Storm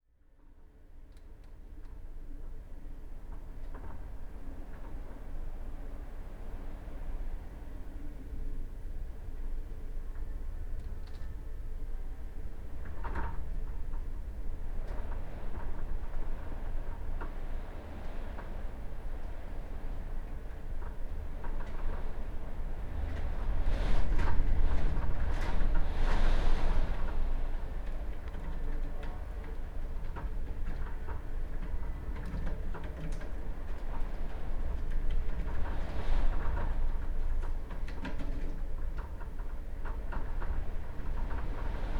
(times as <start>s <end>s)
10.1s 41.9s